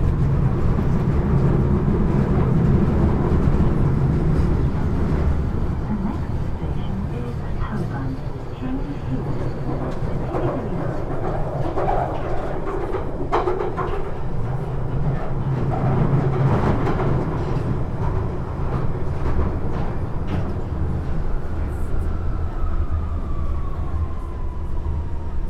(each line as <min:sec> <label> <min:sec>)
0:00.0 journey on the London Underground 0:25.4